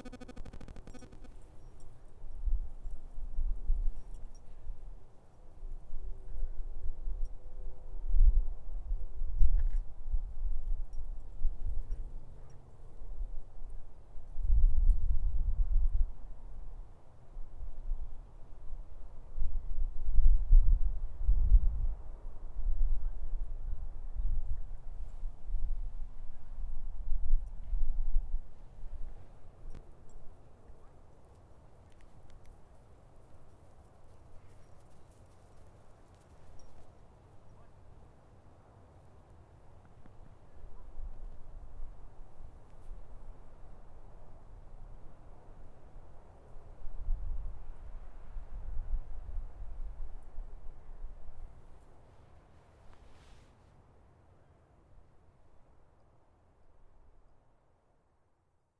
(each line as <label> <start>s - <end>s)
Walking the dog 28.6s - 38.1s